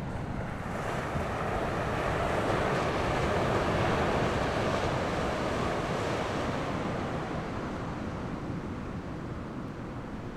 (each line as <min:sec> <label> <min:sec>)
0:00.0 waves 0:10.3